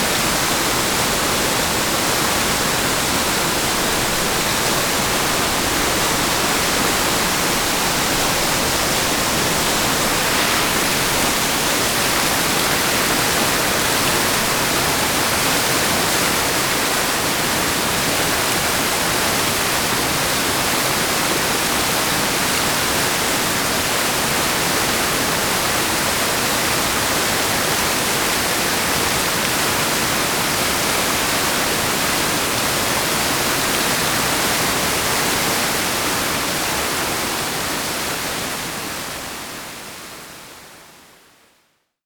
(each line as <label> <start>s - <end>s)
waterfall 0.0s - 41.4s